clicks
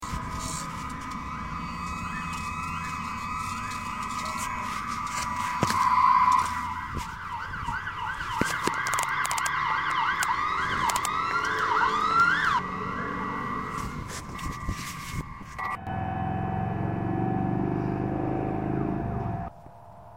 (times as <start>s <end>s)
8.4s 11.7s